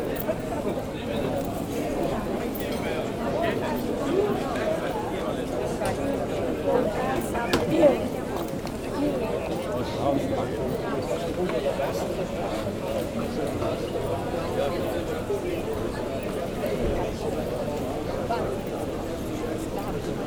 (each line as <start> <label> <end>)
0.0 People walking quietly 20.2